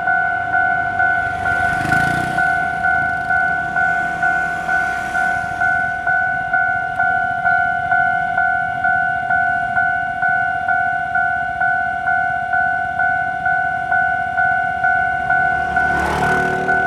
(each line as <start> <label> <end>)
0.0 Train traveling through 10.5
12.6 Train traveling through 16.8